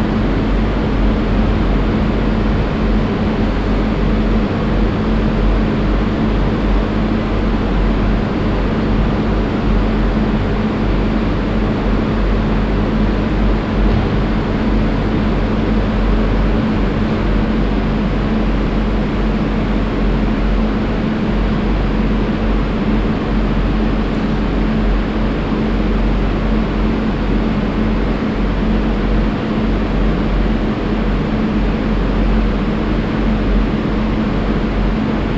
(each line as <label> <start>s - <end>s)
refrigerators and ventilaltion reverbing 0.0s - 35.3s